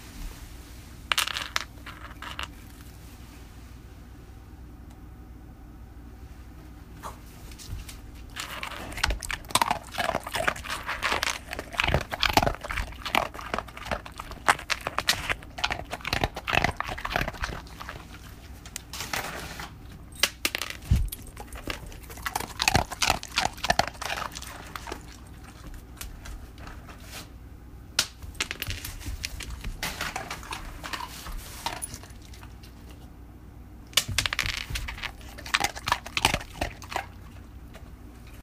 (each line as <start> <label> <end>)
8.2 dog munches 18.9
20.8 dog munches 26.9
28.9 dog munches 33.0
34.3 dog munches 38.4